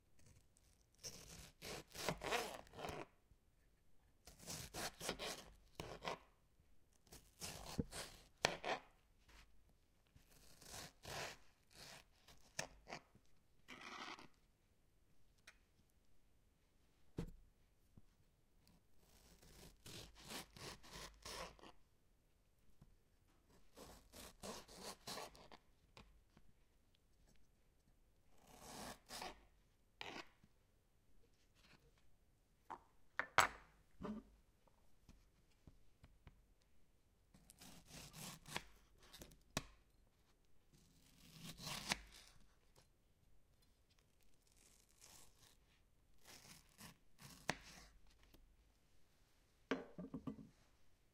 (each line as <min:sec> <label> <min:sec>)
0:01.0 Knife-sliced tomatoes 0:03.0
0:04.2 Knife-sliced tomatoes 0:06.2
0:07.1 Knife-sliced tomatoes 0:08.9
0:10.2 Knife-sliced tomatoes 0:13.0
0:37.4 Knife-sliced tomatoes 0:39.7
0:41.0 Knife-sliced tomatoes 0:42.4
0:46.2 Knife-sliced tomatoes 0:48.3